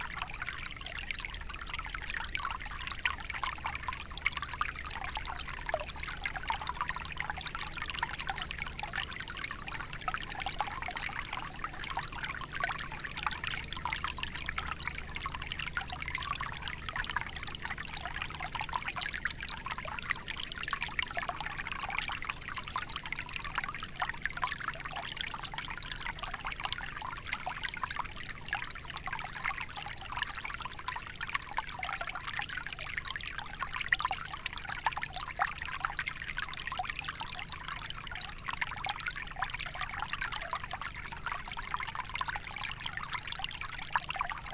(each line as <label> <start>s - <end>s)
small stream, flowing into the mint plants 0.0s - 44.5s